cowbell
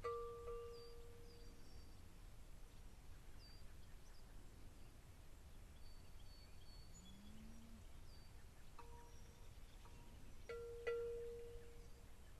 0.0 1.3, 8.8 9.2, 9.9 11.8

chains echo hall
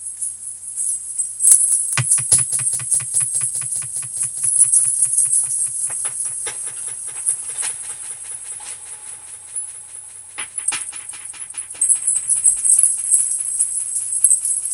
2.0 8.5

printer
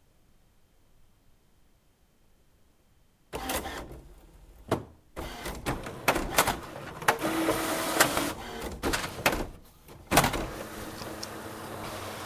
3.4 4.1, 5.2 12.2

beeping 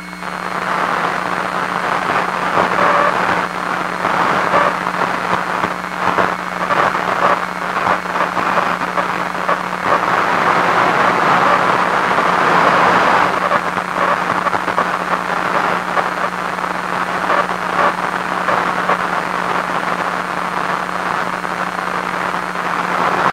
1.1 3.5, 4.4 4.9

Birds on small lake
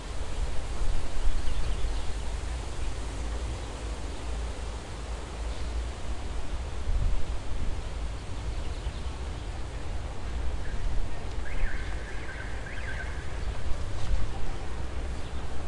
0.7 6.7

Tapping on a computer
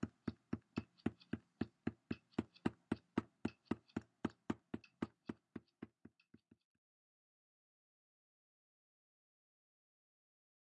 0.0 6.7

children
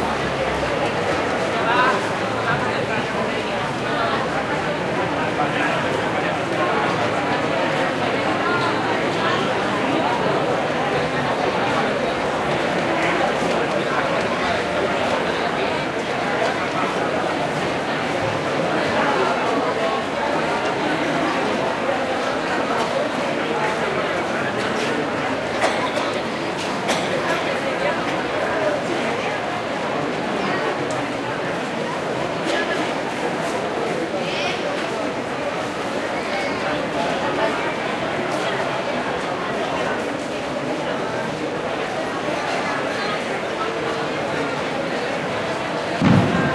24.6 29.6

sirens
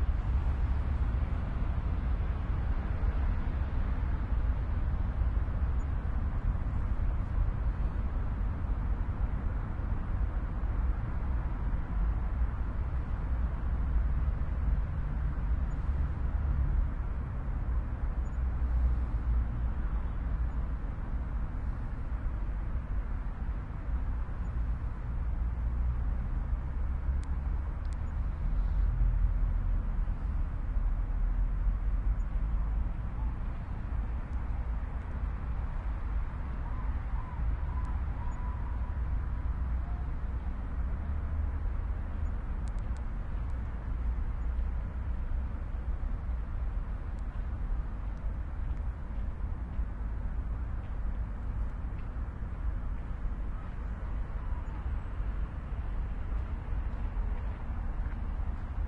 36.5 40.1

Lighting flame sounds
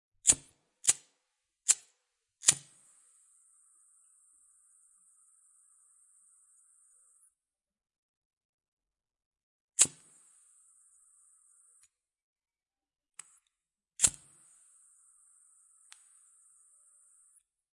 13.2 14.6

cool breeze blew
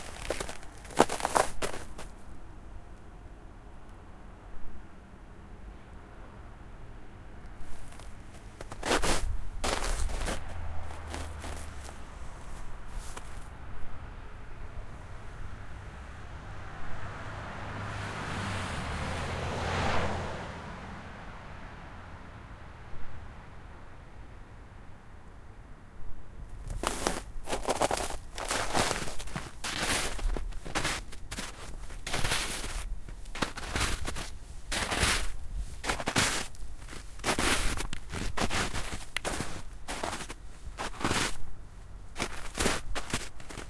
26.1 43.6

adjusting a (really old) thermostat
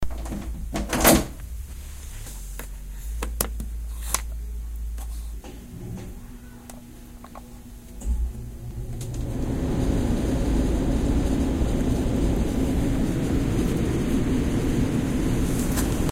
2.5 13.9

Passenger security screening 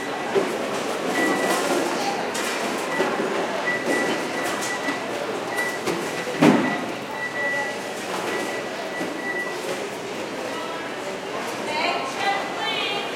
0.0 10.0

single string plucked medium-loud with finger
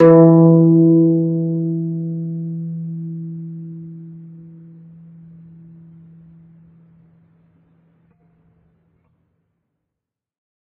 0.0 7.2

